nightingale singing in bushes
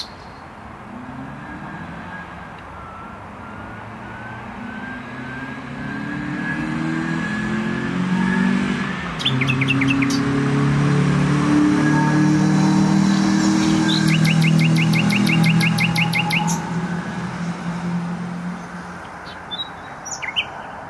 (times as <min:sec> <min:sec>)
0:00.0 0:00.6, 0:09.1 0:10.4, 0:13.0 0:16.8, 0:18.5 0:20.8